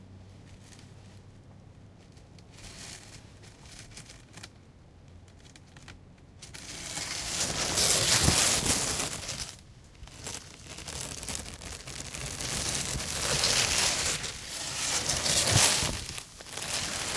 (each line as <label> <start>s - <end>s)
plastic scraping ice 6.5s - 17.1s
plastic car tent shelter flap 6.8s - 17.1s